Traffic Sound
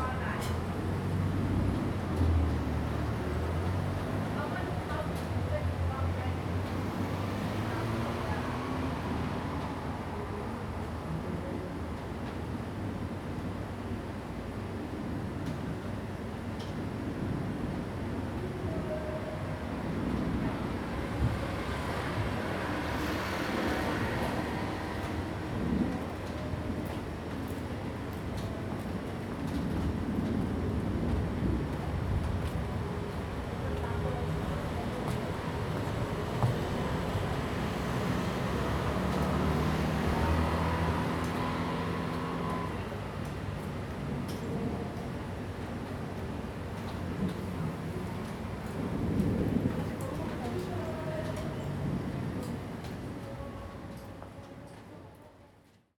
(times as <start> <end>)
1.4 10.3, 20.1 26.4, 29.5 52.6